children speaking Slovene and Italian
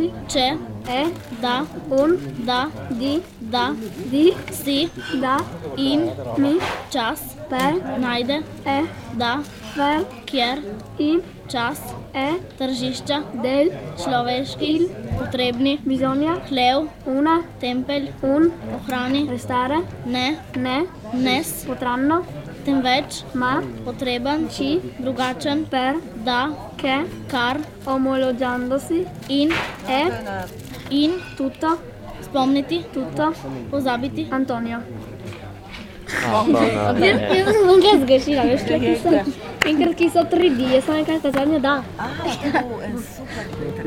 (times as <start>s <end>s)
36.2s 43.0s